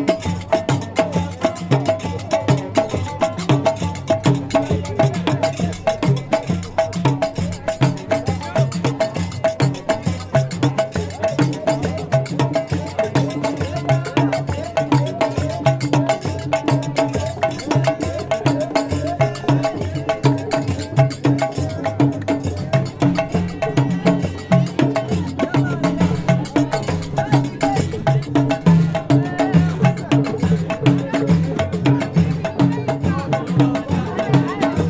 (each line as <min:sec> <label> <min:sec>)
0:00.0 musicians 0:34.8